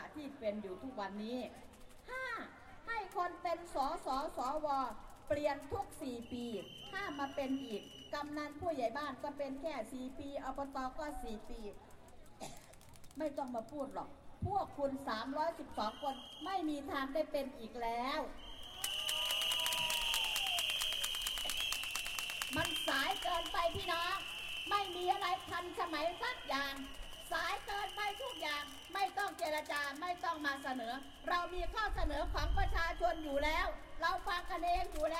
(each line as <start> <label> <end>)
0.0 Political speech of the opposition party 12.4
22.0 Political speech of the opposition party 35.1